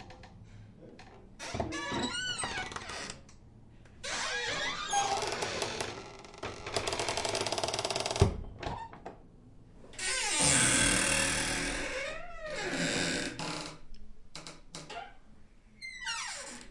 wood door closet cabinet armoir open close creak 0:01.4 - 0:03.2
wood door closet cabinet armoir open close creak 0:04.0 - 0:09.1
wood door closet cabinet armoir open close creak 0:15.9 - 0:16.7

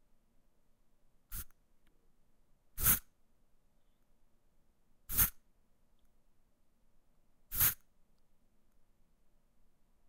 deodorant 0:02.8 - 0:03.0
deodorant 0:05.1 - 0:05.4
air freshener 0:07.5 - 0:07.8
deodorant 0:07.5 - 0:07.8

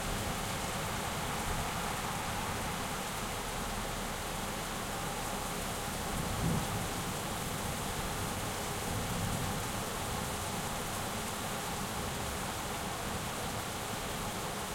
Rain 0:00.0 - 0:14.7
thunder 0:06.3 - 0:07.0

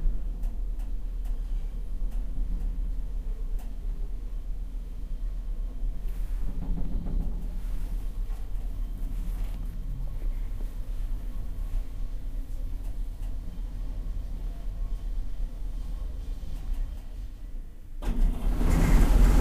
freight elevator 0:05.3 - 0:11.6
freight elevator 0:18.0 - 0:19.4

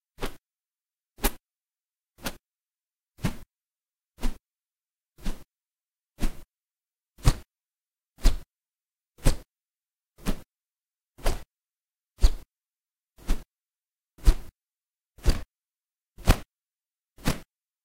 swishes with feather 0:00.2 - 0:00.4
swishes with feather 0:02.2 - 0:02.4
swishes with feather 0:03.2 - 0:03.5
swishes with feather 0:04.2 - 0:04.4
swishes with feather 0:05.2 - 0:05.5
swishes with feather 0:06.2 - 0:06.5
swishes with feather 0:07.2 - 0:07.5
swishes with feather 0:08.2 - 0:08.5
swishes with feather 0:09.2 - 0:09.5
swishes with feather 0:10.2 - 0:10.5
swishes with feather 0:11.2 - 0:11.5
swishes with feather 0:12.2 - 0:12.5
swishes with feather 0:13.2 - 0:13.5
swishes with feather 0:14.2 - 0:14.5
swishes with feather 0:15.2 - 0:15.5
swishes with feather 0:16.2 - 0:16.5
swishes with feather 0:17.2 - 0:17.5

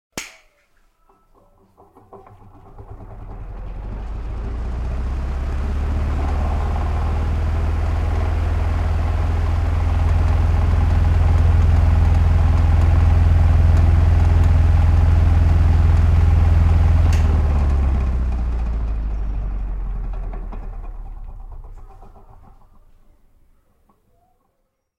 Old Metal Table Fan Switch On & Off 0:01.4 - 0:19.1

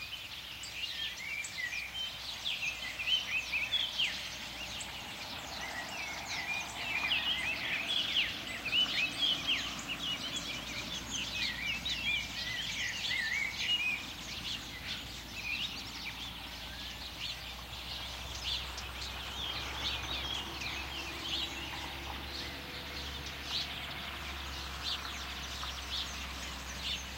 birds singing 0:00.0 - 0:27.1
motors (tractors) in background 0:00.0 - 0:27.1

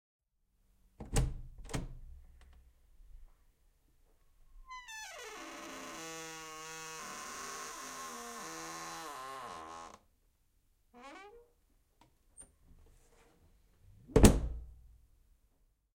wood door 0:01.0 - 0:02.1
wood door 0:04.8 - 0:10.0
wood door 0:14.1 - 0:14.7

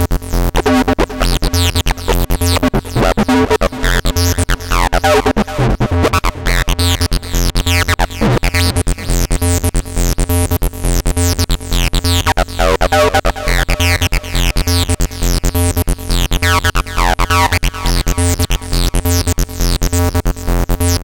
synth 0:00.7 - 0:08.0

